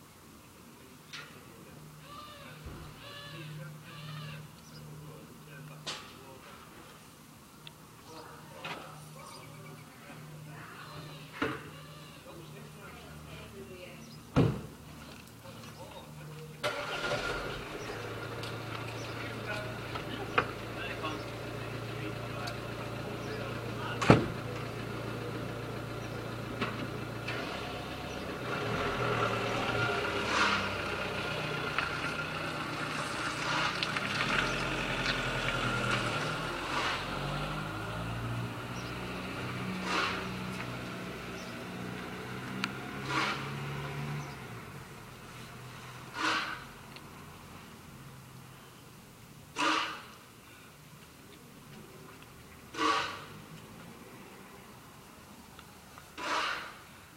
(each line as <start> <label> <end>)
0.0 cars driving into the small cul-de-sac 57.1
0.0 small roadworks 57.1
14.8 men digging 38.0
39.2 men digging 44.2
45.3 men digging 47.0
49.5 men digging 50.2
52.6 men digging 53.8
56.1 men digging 56.9